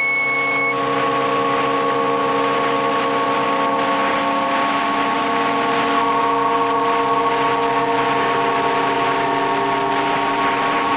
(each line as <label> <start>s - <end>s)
RTTY transmission sound 0.0s - 10.9s